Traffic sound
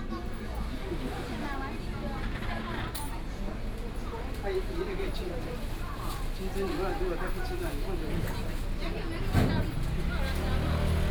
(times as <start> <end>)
9.6 11.1